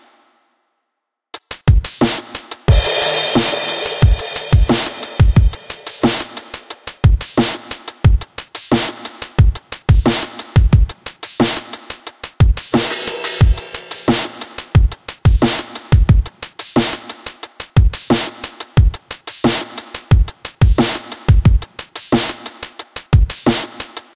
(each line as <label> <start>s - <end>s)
Drums 1.4s - 24.1s